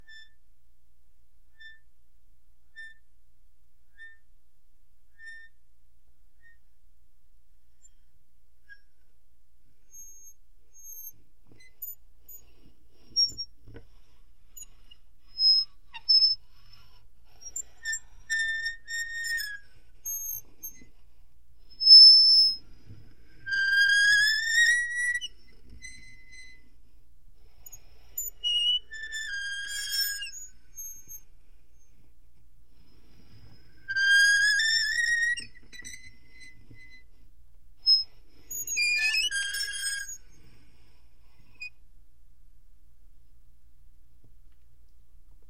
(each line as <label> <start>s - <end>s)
slow squeaks with a toy meat grinder 0.0s - 0.4s
slow squeaks with a toy meat grinder 1.5s - 1.9s
slow squeaks with a toy meat grinder 2.7s - 3.1s
slow squeaks with a toy meat grinder 3.9s - 4.3s
slow squeaks with a toy meat grinder 5.1s - 5.6s
slow squeaks with a toy meat grinder 6.4s - 6.6s
slow squeaks with a toy meat grinder 8.6s - 9.0s
slow squeaks with a toy meat grinder 9.8s - 32.1s
slow squeaks with a toy meat grinder 32.8s - 40.6s
slow squeaks with a toy meat grinder 41.2s - 41.8s